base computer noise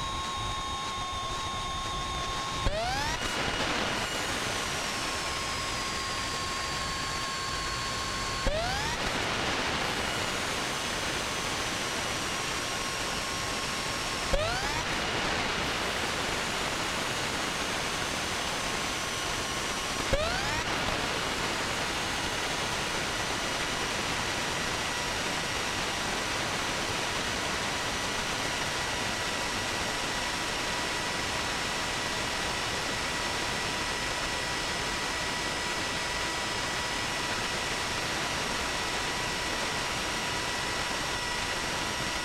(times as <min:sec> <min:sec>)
0:00.0 0:12.5